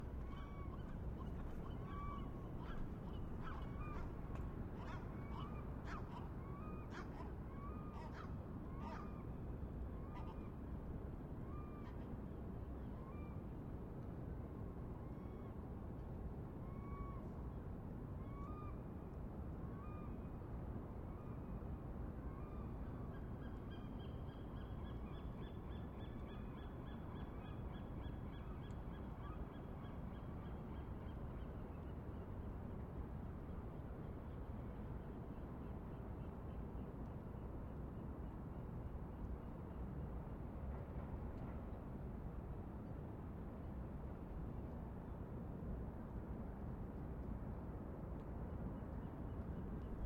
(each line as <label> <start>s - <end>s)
seagulls 0.3s - 4.2s
seagulls 4.8s - 9.3s